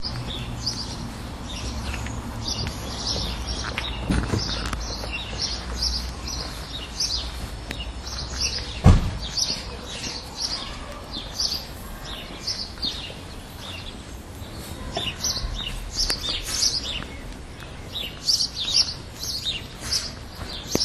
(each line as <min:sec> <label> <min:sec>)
0:00.0 sparrows chattering away 0:20.8